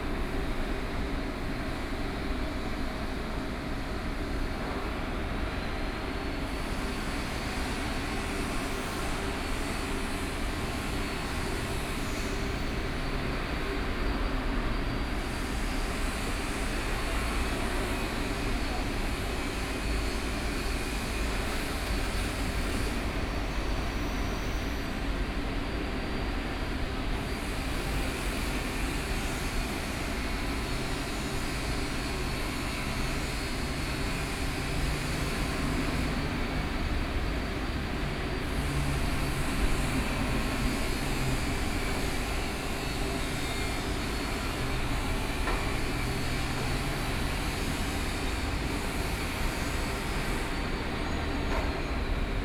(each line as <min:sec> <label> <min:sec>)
0:00.0 Shipyard noise 0:52.4